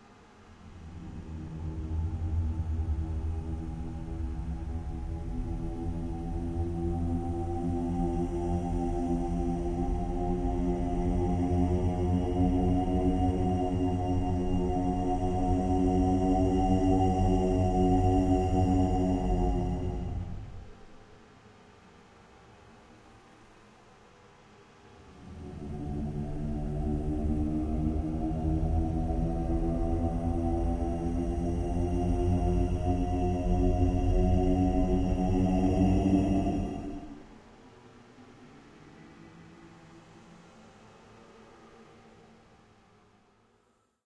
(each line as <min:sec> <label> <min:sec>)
0:00.7 Ghostly moans 0:20.9
0:25.1 Ghostly moans 0:37.4